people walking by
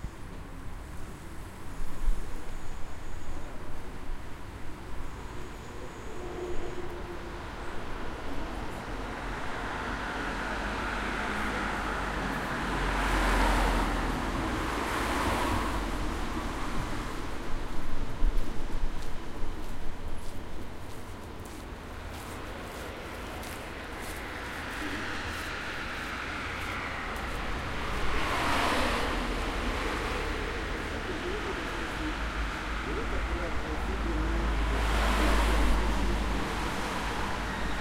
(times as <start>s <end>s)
17.7s 28.2s, 28.9s 37.8s